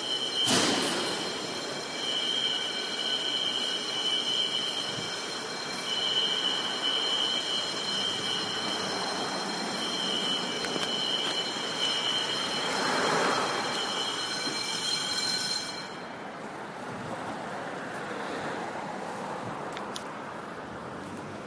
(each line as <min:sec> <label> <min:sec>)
0:00.0 Fire alarming 0:16.2